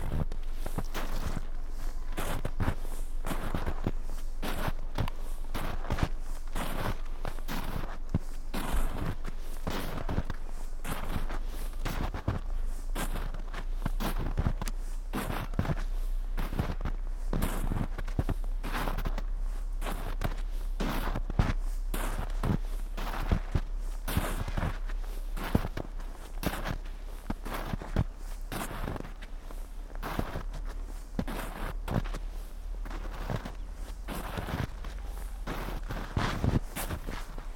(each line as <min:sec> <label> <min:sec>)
0:00.0 steps 0:37.5